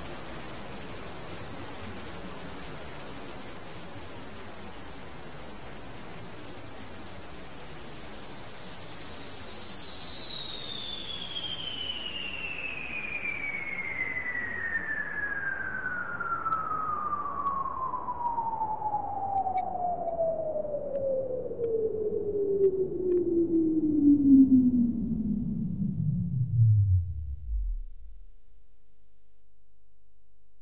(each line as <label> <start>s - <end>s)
space time tranfer sound 16.8s - 28.3s